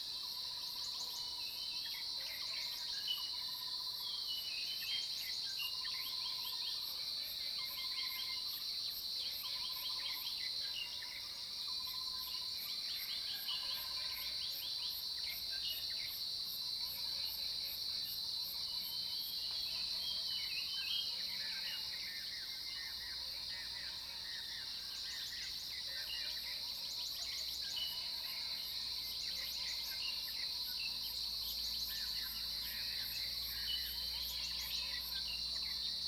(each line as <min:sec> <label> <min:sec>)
0:11.8 Cicadas cry 0:36.0